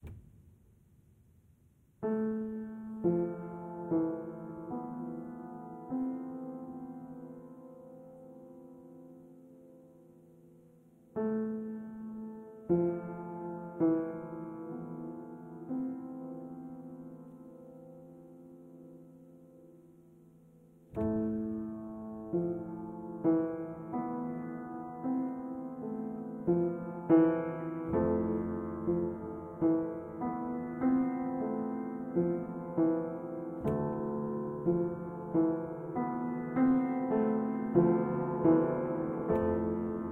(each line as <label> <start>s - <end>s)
simple piano piece with reverb 1.8s - 40.1s